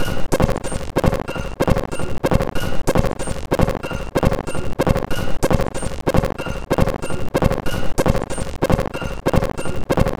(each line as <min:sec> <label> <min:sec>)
0:00.0 Drum Loop 0:10.1